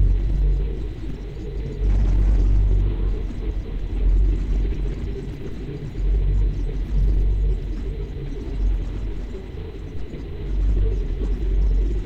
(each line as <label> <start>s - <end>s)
low hum 0.0s - 9.3s
rumble 0.0s - 12.0s